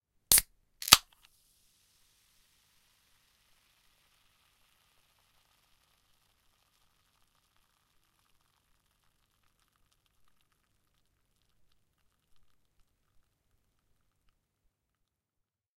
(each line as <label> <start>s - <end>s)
Fizzy Drink Can, Opening 0.3s - 1.4s
initial fizz after opening 0.3s - 14.3s